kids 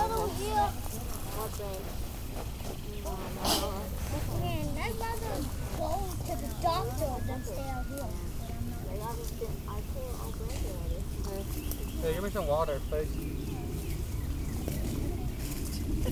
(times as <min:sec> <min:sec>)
0:00.0 0:01.6, 0:03.4 0:10.8